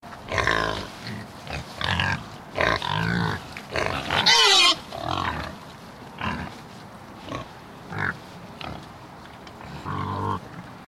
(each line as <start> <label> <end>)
0.0 nearby street 10.8
0.3 Pigs oinking 5.6
9.5 Pigs oinking 10.7